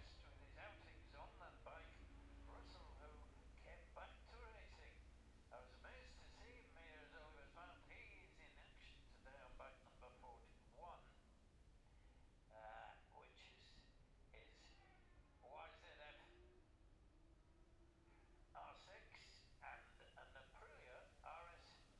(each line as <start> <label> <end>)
0.0 classic superbikes 4.6